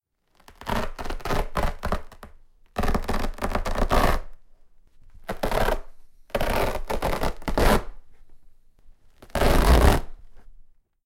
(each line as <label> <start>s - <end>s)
tearing up some old, thick carpet 0.4s - 4.3s
tearing up some old, thick carpet 5.2s - 8.0s
tearing up some old, thick carpet 9.2s - 10.1s